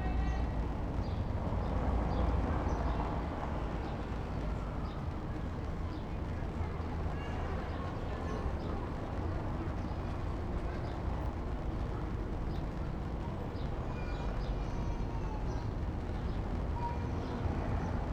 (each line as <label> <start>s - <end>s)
pedestrians 0.0s - 18.1s
traffic noise 0.0s - 18.1s